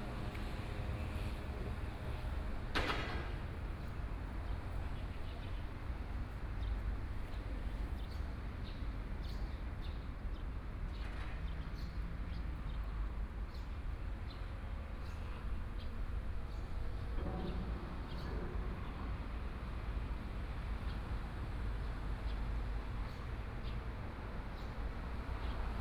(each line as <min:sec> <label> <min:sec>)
0:00.0 Trains traveling through 0:07.9
0:00.0 Traffic Sound 0:08.0